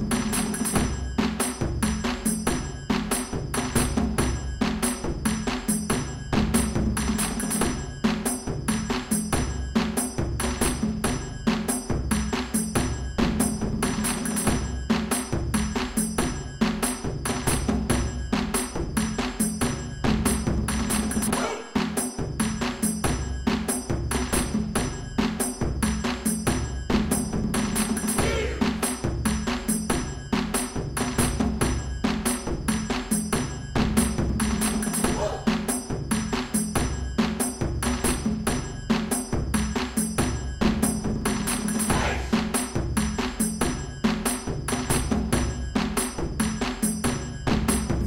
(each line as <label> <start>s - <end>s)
Taiko drums 0.0s - 48.0s
shouts 21.3s - 21.8s
shouts 28.2s - 28.8s
shouts 41.9s - 42.3s